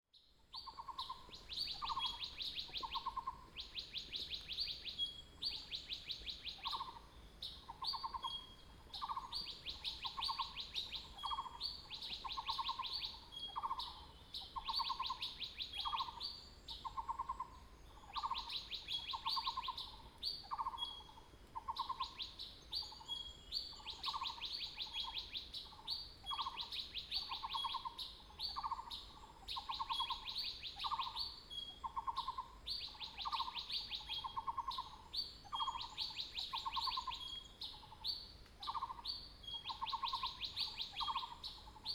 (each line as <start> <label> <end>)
0.5 Birds singing 41.9